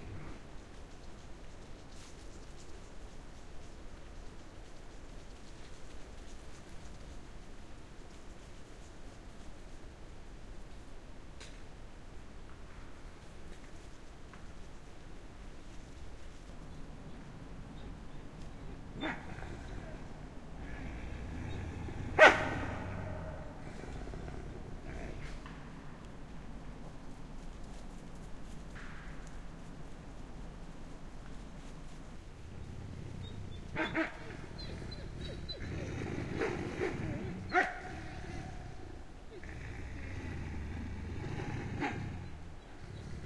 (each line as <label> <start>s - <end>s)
A pack of wolves, squeaking and yapping further away 16.6s - 25.4s
A pack of wolves, squeaking and yapping further away 32.4s - 39.8s
A pack of wolves, squeaking and yapping further away 40.6s - 43.2s